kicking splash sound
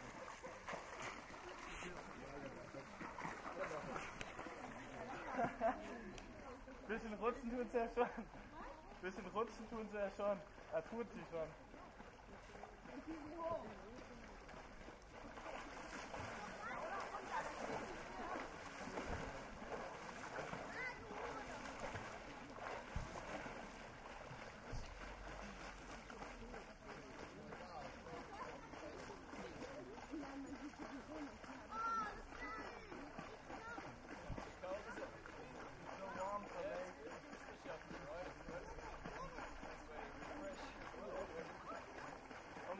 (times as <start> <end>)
12.6 30.0